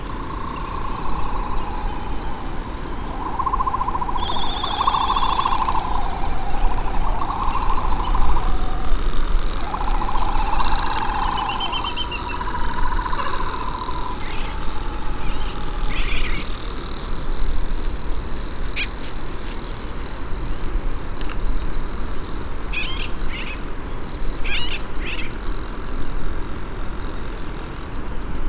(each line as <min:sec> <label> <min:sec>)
0:00.0 Great frigate bird calls and 'song' 0:17.0
0:00.0 white tern 0:17.0
0:00.0 canary 0:17.1
0:00.0 laysan albatross 0:20.1
0:00.0 red -tailed tropic bird 0:28.4
0:21.2 Great frigate bird calls and 'song' 0:26.1
0:22.7 canary 0:25.9
0:24.4 white tern 0:25.5